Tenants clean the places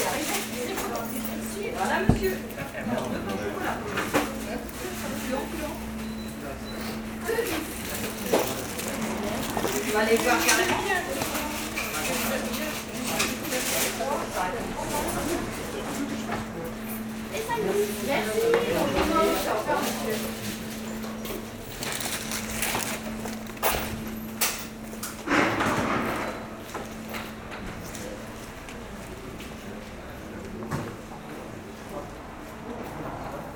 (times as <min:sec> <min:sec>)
0:00.0 0:26.2